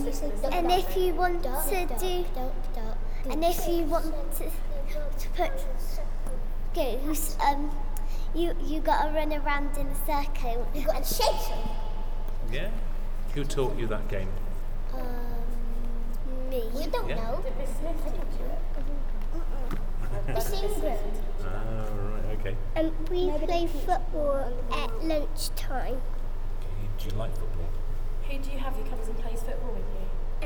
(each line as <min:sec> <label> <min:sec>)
0:00.0 Playground talking games 0:12.2
0:14.8 Playground talking games 0:19.7
0:22.8 Playground talking games 0:26.4